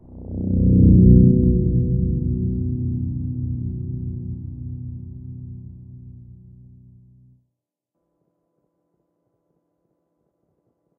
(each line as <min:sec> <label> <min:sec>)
0:00.0 Short bass ethereal noise from an FM synth 0:07.3